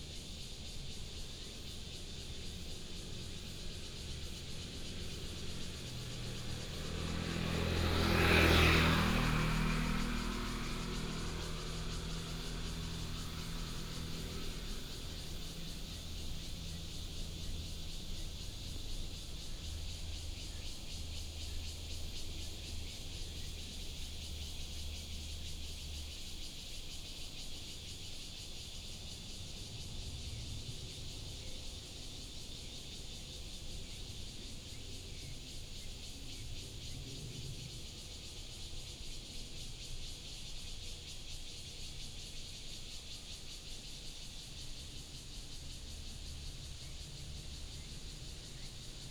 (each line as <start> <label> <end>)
0.0 Cicadas 49.1
2.2 Traffic sound 26.1